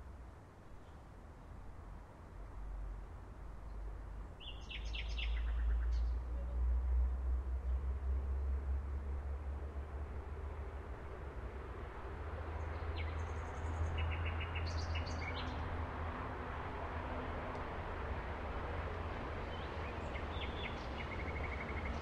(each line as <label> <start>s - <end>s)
bird singing 4.4s - 6.2s
bird singing 12.6s - 15.6s
bird singing 19.5s - 22.0s